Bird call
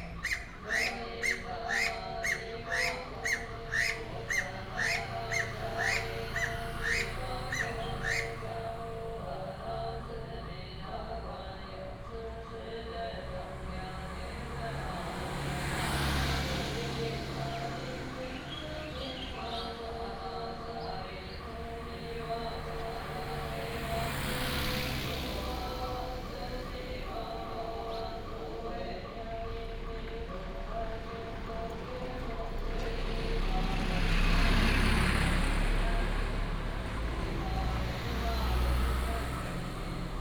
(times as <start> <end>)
0.0 8.8